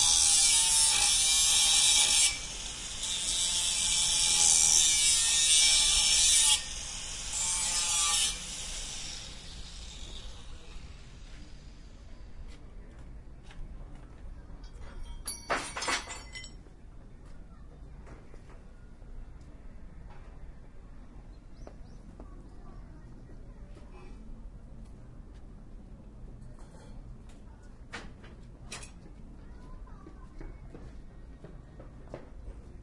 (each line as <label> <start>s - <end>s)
Angle grinder 0.0s - 11.2s
People in the background 9.9s - 32.8s
tools 14.7s - 16.6s